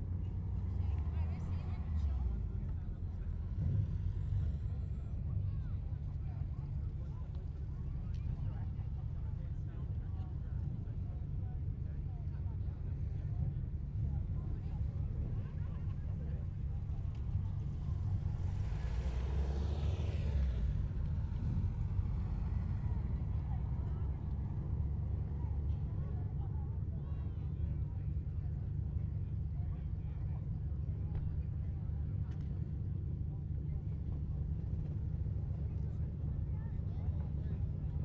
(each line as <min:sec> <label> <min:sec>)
0:15.8 cars and bikes moving 0:25.6